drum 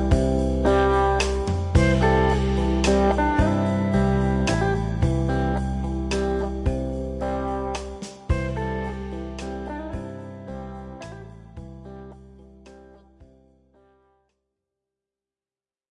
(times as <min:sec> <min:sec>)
0:01.2 0:05.3, 0:07.8 0:08.6